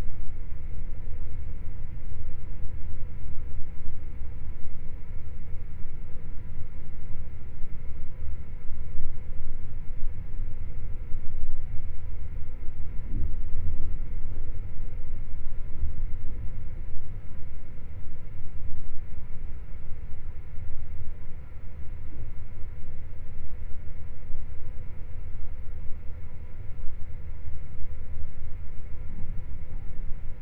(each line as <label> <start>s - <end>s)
airconditioning 0.0s - 30.4s